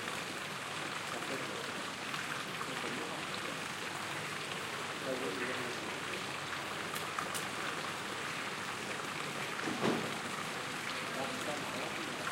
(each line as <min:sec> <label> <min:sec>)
0:00.0 water in the fountain quietly keeps running 0:12.3
0:09.7 restaurants take out the tables and parasols 0:10.1